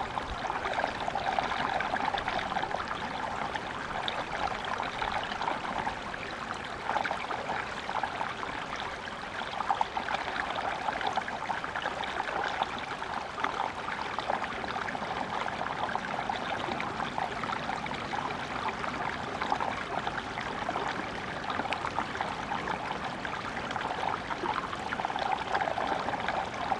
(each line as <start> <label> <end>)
0.0 spring stream 26.7